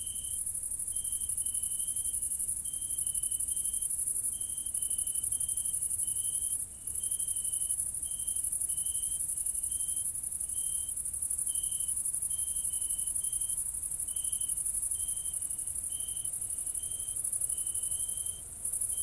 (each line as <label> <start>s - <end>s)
cicades 0.0s - 19.0s
crickets 0.0s - 19.0s
wind 0.0s - 19.0s